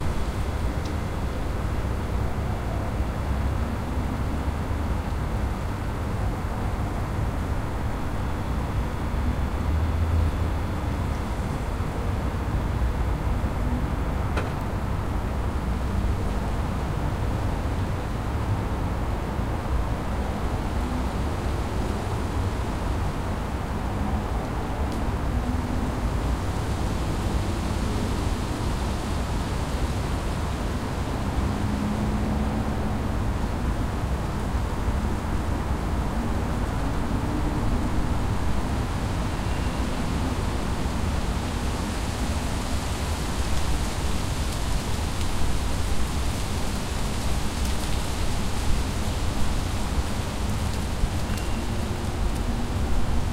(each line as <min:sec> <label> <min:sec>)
0:00.0 Rumble of city 0:53.3
0:00.0 Wind in the upper branches of tree 0:53.3
0:39.3 leaves have fallen 0:53.3